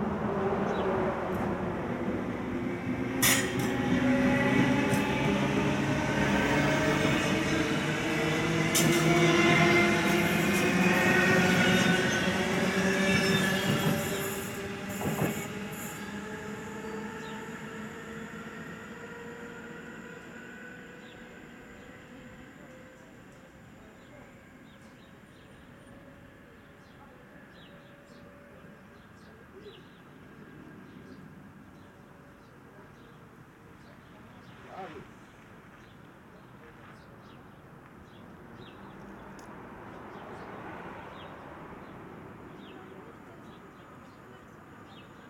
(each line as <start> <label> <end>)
0.0 Trains passing by 45.2